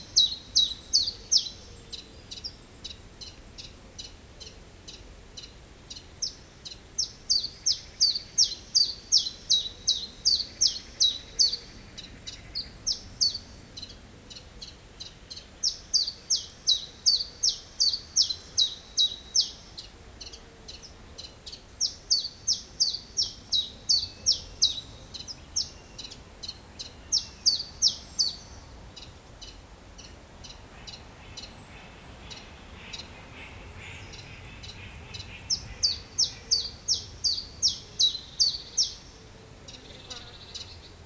6.2s song of a Common Chiffchaff 41.0s
7.0s Common Moorhen 41.0s

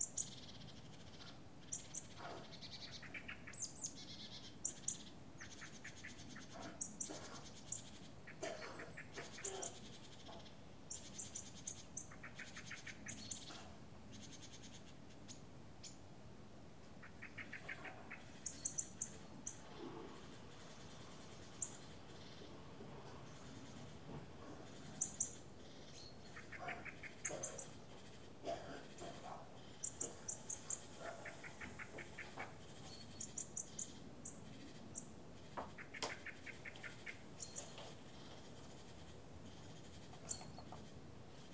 0.0s birds 16.1s
16.8s birds 41.5s

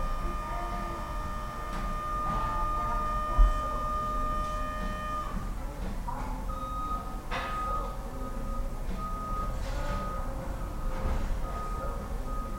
0.0s Forklifts 12.5s
0.0s announcements 12.5s

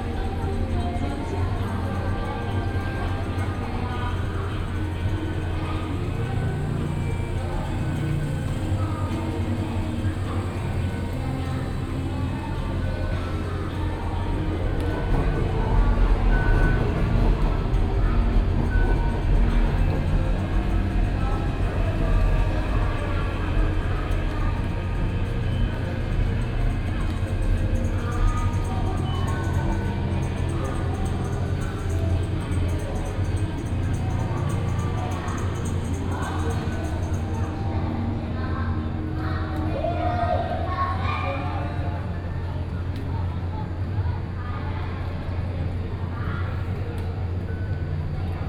0.0s train arrival and departure 40.8s
0.0s distant Markets Activities 48.4s
0.0s voice from the station hall 48.4s

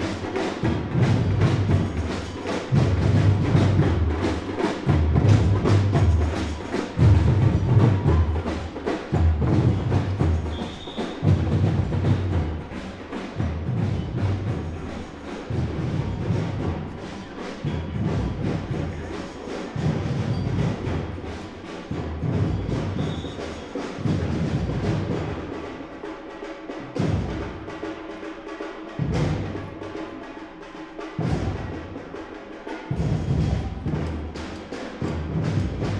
0.0s drummer performance 35.9s

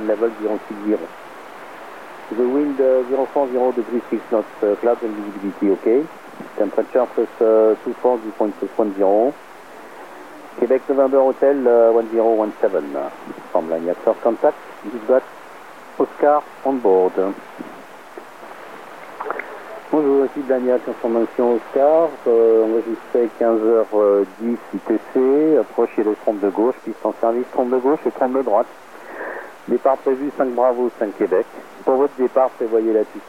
0.0s radio wave scanner 33.2s

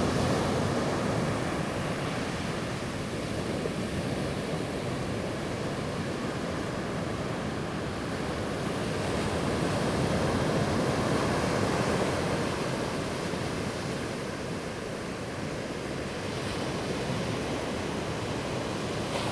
9.2s waves 19.3s

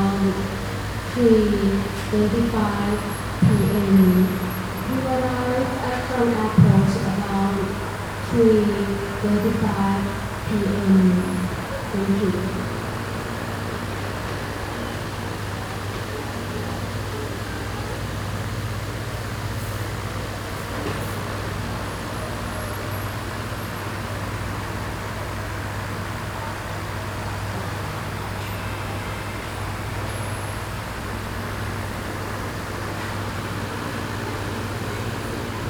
0.0s fan 35.6s

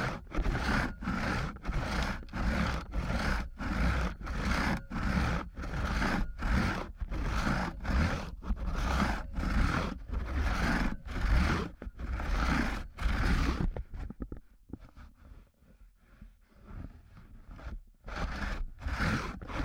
0.0s 2-person crosscut 14.3s
17.5s 2-person crosscut 19.6s

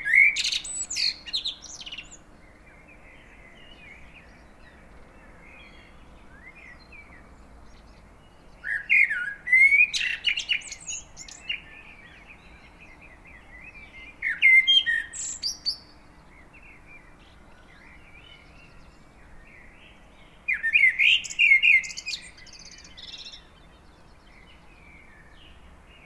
0.0s Blackbird song 26.0s

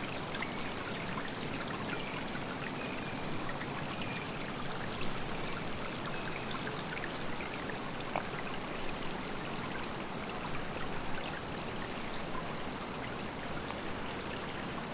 0.0s brook 14.9s

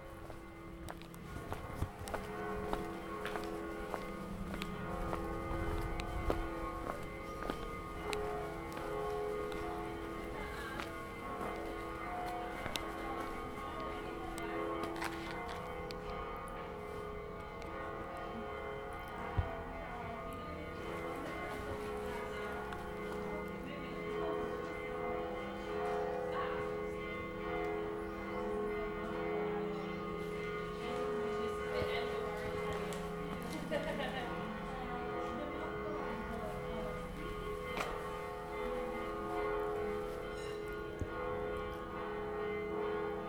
0.0s bells 43.2s

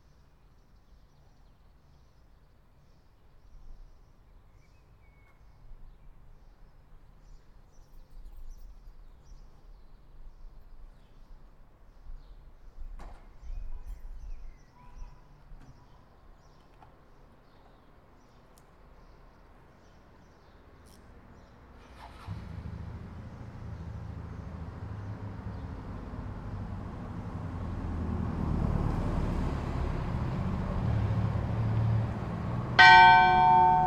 32.8s morning church bell 33.8s

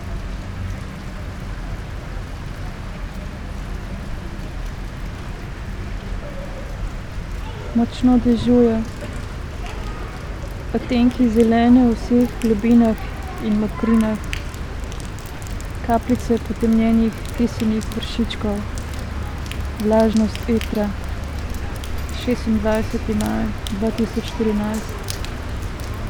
0.0s raindrops 26.0s
6.7s reading fragmented poems 26.0s

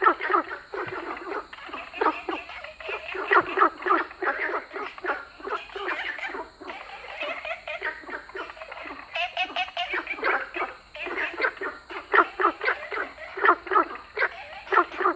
0.0s Frogs sound 15.1s

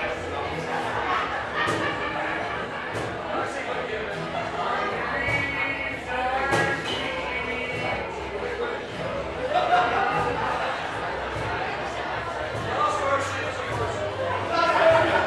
0.0s outdoor crowd 15.2s
0.6s laughter 3.2s
4.4s singing 9.1s
9.3s laughter 11.4s
14.4s laughter 15.2s

